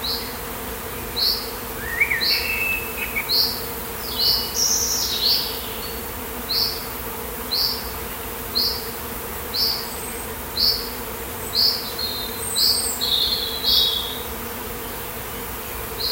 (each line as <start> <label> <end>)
0.0 swarm of bees in a tree 16.1
1.0 birdsong 6.8
11.5 birdsong 16.1